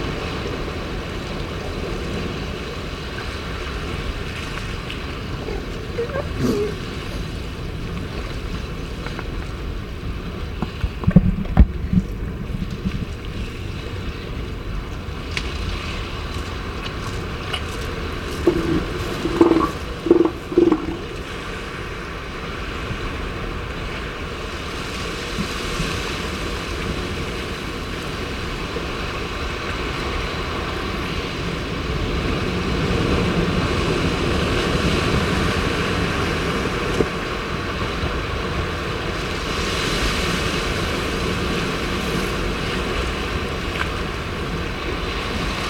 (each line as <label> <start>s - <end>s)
elephant seal mothers and pups 2.6s - 14.5s
elephant seal mothers and pups 15.2s - 21.4s
handling noises 17.6s - 21.1s